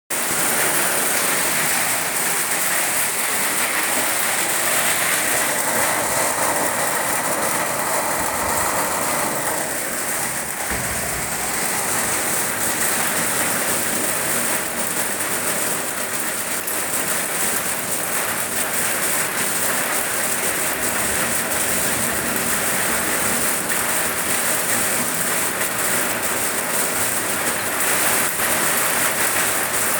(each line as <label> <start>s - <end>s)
Heavy Rain on Tinroof 0.1s - 29.9s